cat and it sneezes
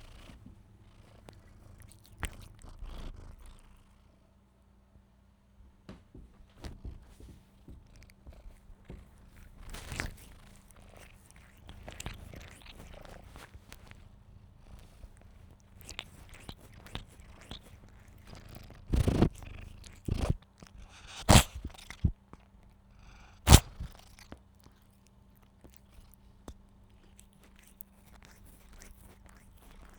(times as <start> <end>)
15.8 22.2, 23.0 24.2